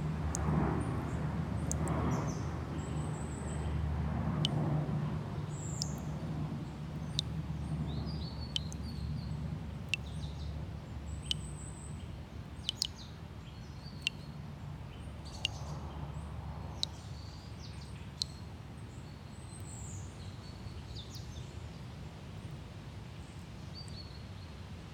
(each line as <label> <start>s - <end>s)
airplanes 0.0s - 11.2s
dripping tap 1.6s - 2.0s
dripping tap 6.9s - 7.4s
dripping tap 8.5s - 8.9s
dripping tap 9.8s - 10.3s
dripping tap 11.0s - 11.8s
dripping tap 12.4s - 12.9s